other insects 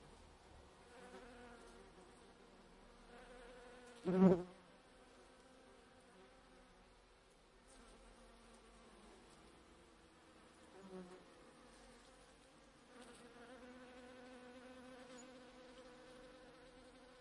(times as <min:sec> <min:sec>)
0:12.8 0:17.2